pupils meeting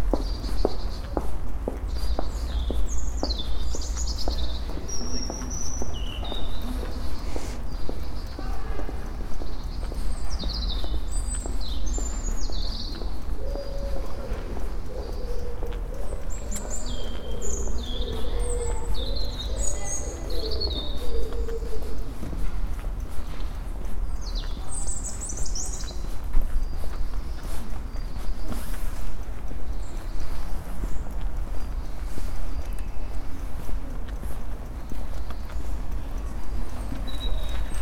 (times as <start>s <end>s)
0.2s 28.8s